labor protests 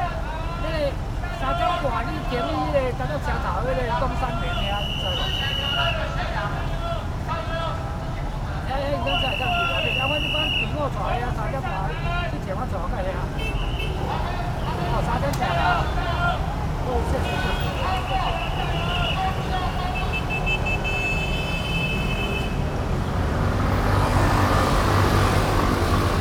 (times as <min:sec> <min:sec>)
0:13.3 0:26.2